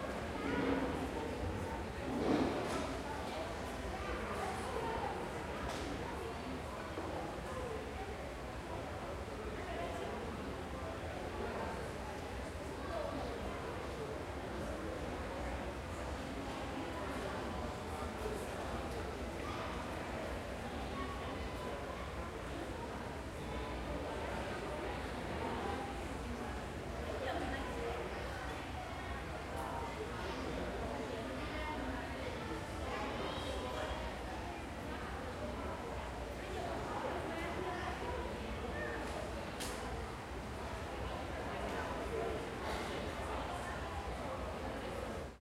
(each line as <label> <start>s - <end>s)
closer chair scrapes 2.1s - 2.8s